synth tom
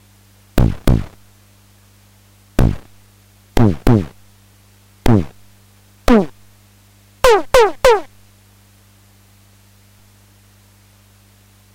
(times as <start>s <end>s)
0.6s 1.2s, 2.6s 3.0s, 3.6s 4.2s, 5.1s 5.4s, 6.1s 6.4s, 7.2s 8.1s